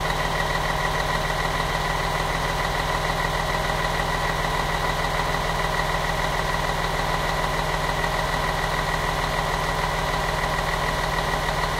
Bus Motor/Engine Sound 0.0 - 11.7

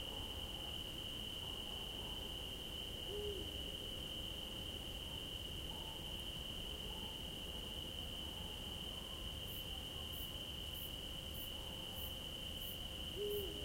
soft cricket chorus 0.0 - 13.6
distant owl 3.1 - 3.5
distant owl 13.2 - 13.6

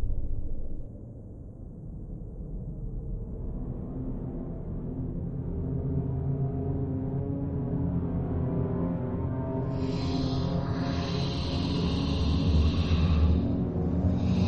lorum_ipsum_whishpered_ed 9.7 - 14.4

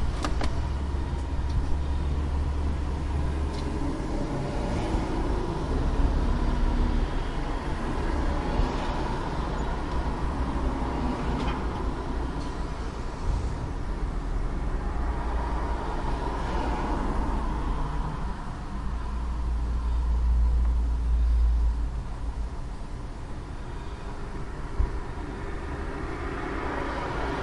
noise from the inside of the car 0.0 - 27.4
car passing by 3.4 - 9.6
car passing by 10.3 - 18.7
car passing by 24.7 - 27.4

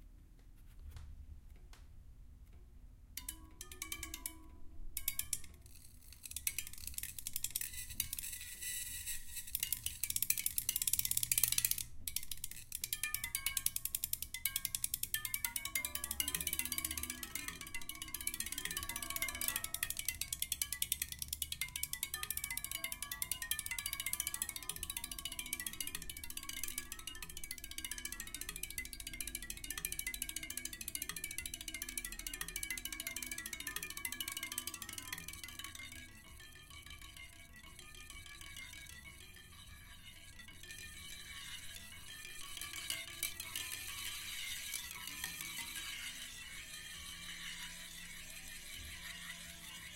sounds of my bicycle 3.2 - 49.9

